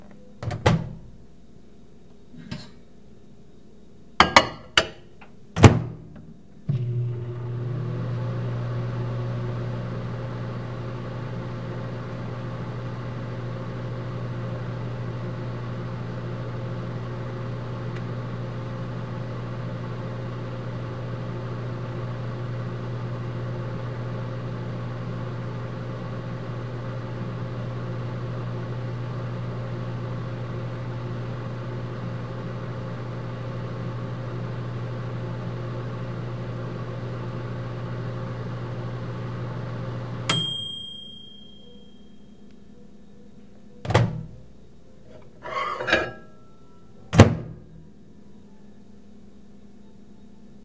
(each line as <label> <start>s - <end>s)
Open microwave 0.0s - 1.2s
close microwave 0.0s - 1.1s
close microwave 4.2s - 10.4s
Open microwave 4.2s - 50.2s
turn on microwave 5.6s - 42.1s
close microwave 26.1s - 42.6s
ding 40.3s - 42.4s
close microwave 43.8s - 44.5s
close microwave 45.1s - 47.9s
put in plate 45.1s - 46.3s
turn on microwave 45.1s - 47.9s